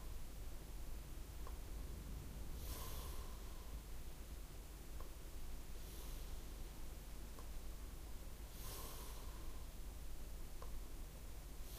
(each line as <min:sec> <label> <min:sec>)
0:00.7 wind moving the wet trees 0:05.5
0:01.1 airplane flies by 0:05.0
0:02.5 breath 0:03.8
0:05.8 breath 0:06.6
0:08.5 breath 0:09.8